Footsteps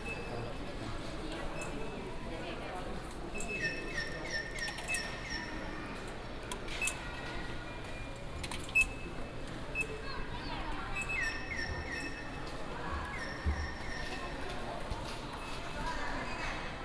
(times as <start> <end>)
9.6 16.8